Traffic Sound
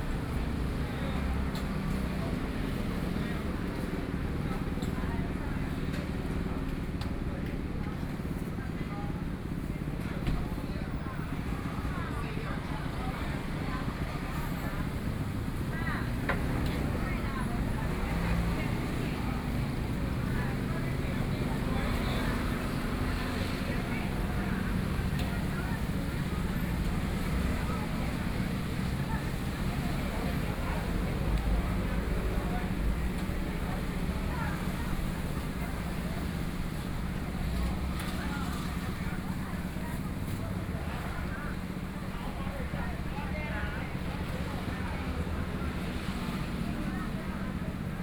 12.8s 48.0s

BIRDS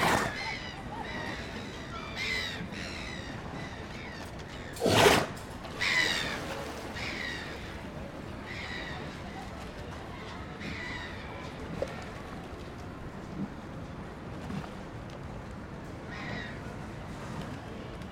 0.0s 12.9s, 16.0s 16.7s

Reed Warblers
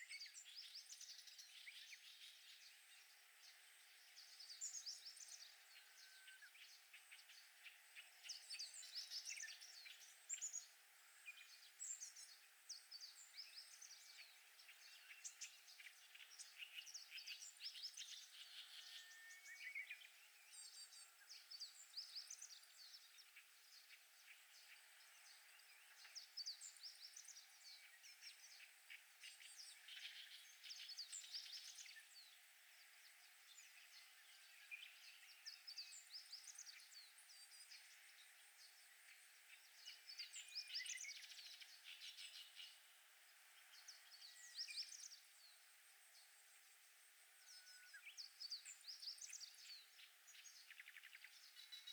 47.5s 51.9s

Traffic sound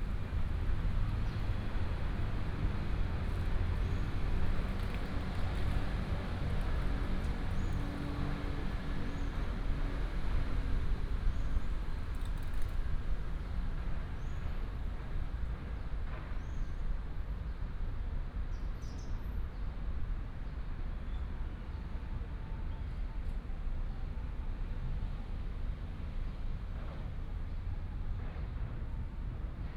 0.0s 16.4s

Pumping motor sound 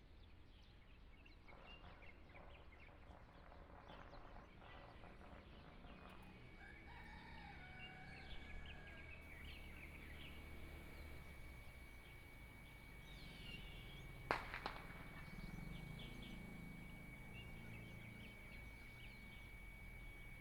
9.2s 20.4s

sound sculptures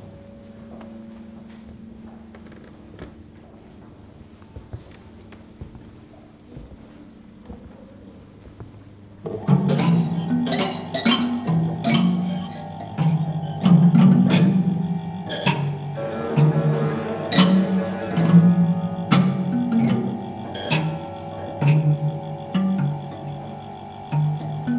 9.3s 24.7s

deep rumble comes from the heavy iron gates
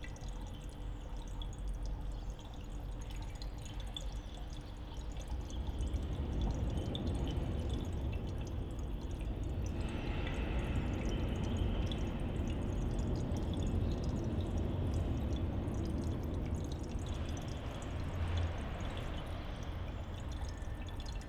5.5s 21.2s

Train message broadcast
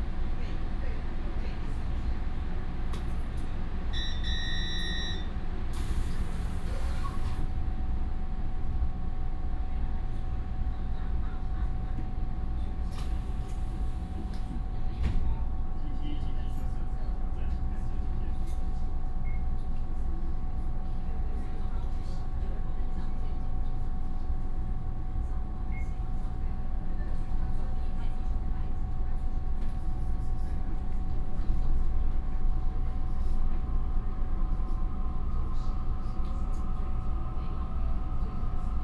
3.9s 5.9s

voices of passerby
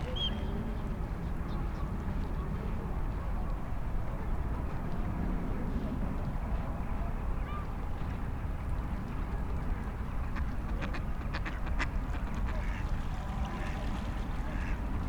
11.7s 15.0s

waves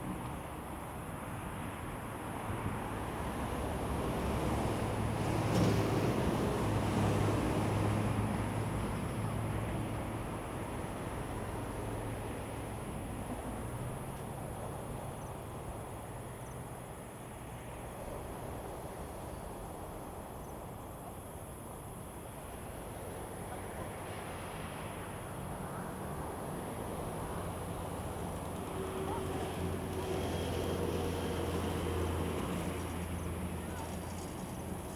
3.0s 13.4s, 18.0s 34.9s

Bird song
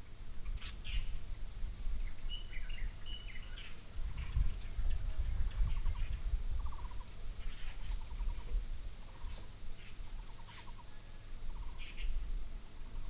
2.0s 4.7s

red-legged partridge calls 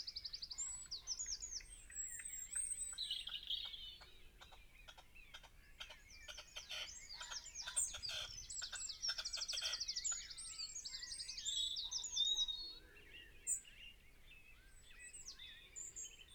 3.2s 9.9s

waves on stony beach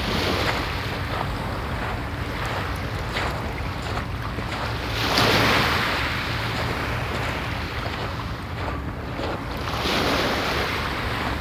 9.6s 11.4s

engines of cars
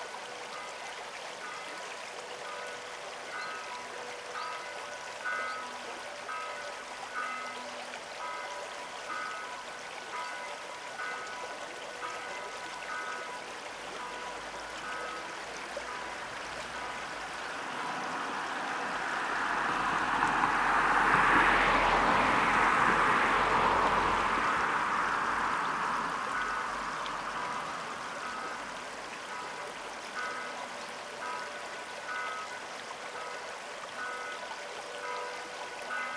16.7s 29.1s

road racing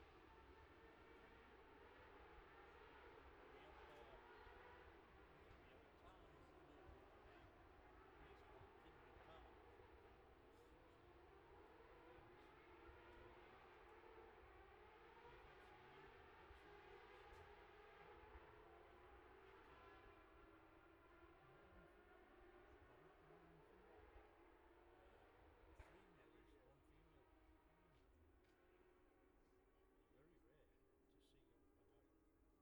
6.8s 26.0s

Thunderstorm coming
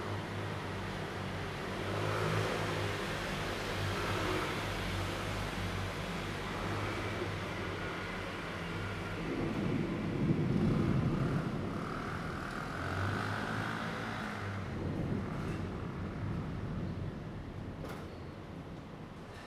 9.0s 19.2s

